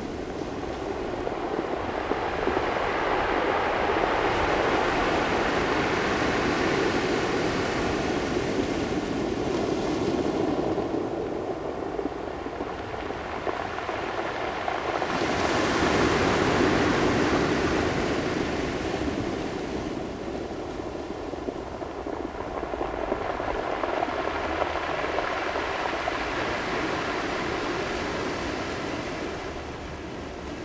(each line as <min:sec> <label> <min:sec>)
0:00.0 Waves 0:30.6